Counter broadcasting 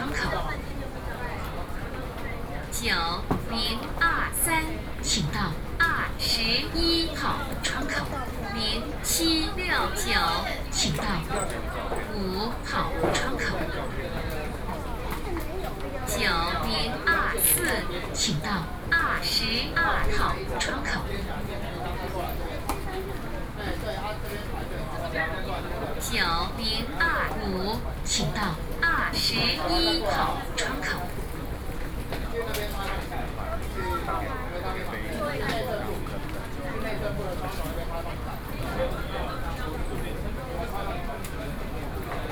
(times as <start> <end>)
0.0 0.7, 2.7 14.0, 16.0 21.3, 26.0 31.2